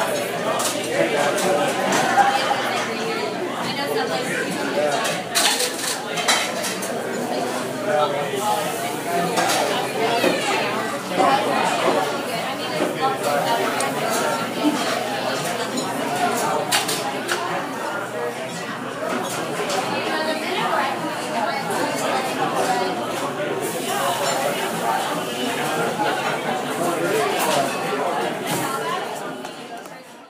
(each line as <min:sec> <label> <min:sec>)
0:00.0 crowd 0:30.2